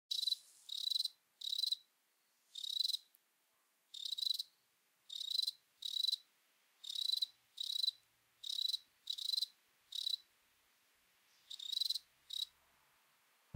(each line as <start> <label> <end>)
0.1 cricket solo trill 1.8
2.6 cricket solo trill 3.1
4.0 cricket solo trill 4.5
5.1 cricket solo trill 6.2
6.8 cricket solo trill 10.2
11.6 cricket solo trill 12.5